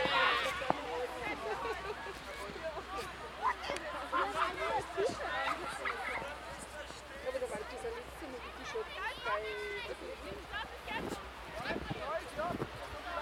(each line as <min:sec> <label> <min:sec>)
0:00.0 children sledding and sliding down sacks 0:13.2